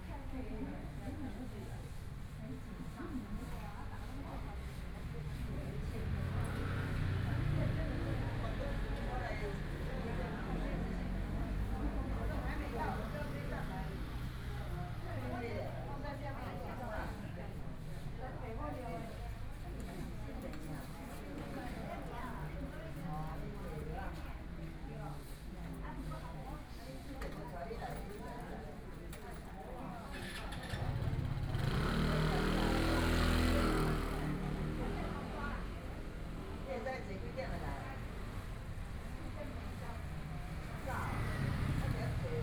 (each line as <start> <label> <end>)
0.0 Dialogue among the elderly 42.4
30.2 Traffic Sound 42.4